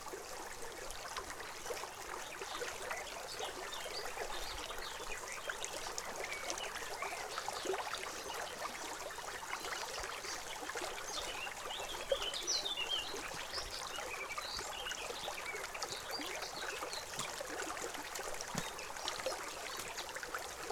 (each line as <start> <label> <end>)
0.0 small irrigation canals 20.7